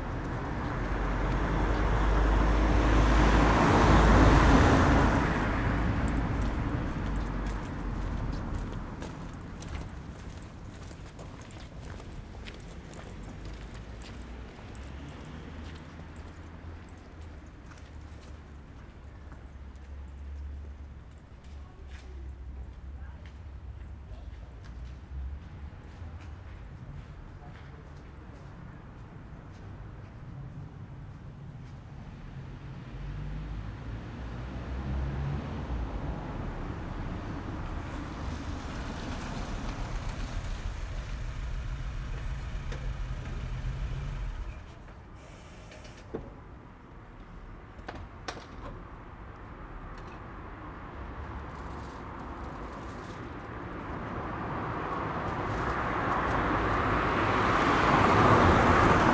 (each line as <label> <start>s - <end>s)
autos 0.0s - 47.7s
autos 48.5s - 59.1s